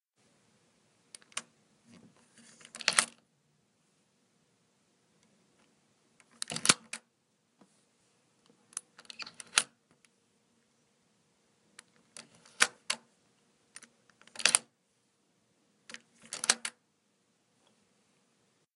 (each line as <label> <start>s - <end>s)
lock unlock door 6.3s - 7.0s
lock unlock door 14.3s - 14.7s
lock unlock door 16.2s - 16.8s